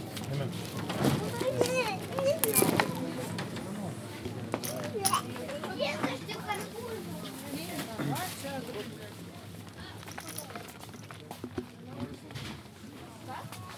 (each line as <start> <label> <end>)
0.0 People in line talking 13.7